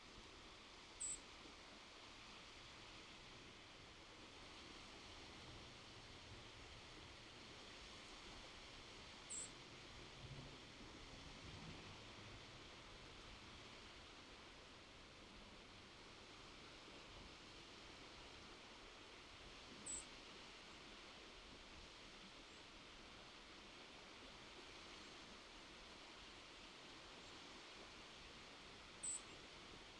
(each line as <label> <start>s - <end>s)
White-throated sparrow 1.0s - 1.2s
White-throated sparrow 9.3s - 9.5s
White-throated sparrow 19.8s - 20.1s
White-throated sparrow 29.0s - 29.4s